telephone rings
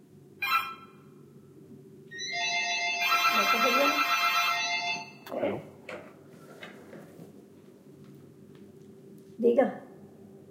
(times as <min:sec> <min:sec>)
0:02.1 0:05.2